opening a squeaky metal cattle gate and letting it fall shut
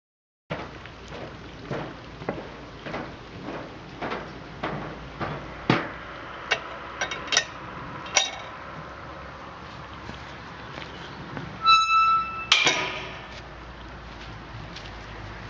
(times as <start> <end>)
11.6 13.4